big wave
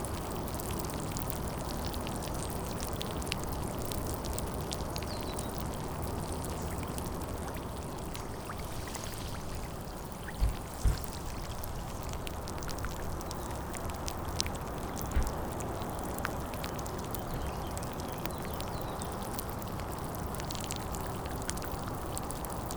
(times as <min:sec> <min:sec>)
0:08.2 0:11.7